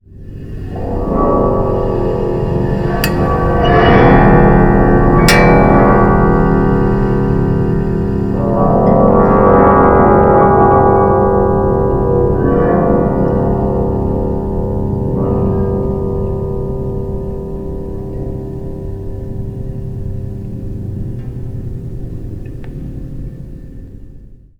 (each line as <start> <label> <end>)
5.2 homemade elecric aeolian harp 10.5